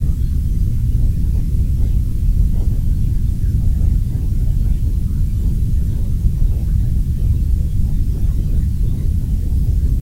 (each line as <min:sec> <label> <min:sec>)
0:00.0 spaceship interior 0:10.0